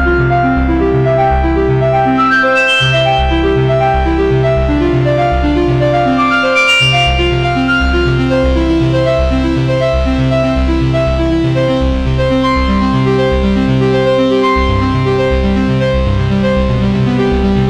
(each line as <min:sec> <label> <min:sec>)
0:00.0 Arpeggio melodies 0:17.6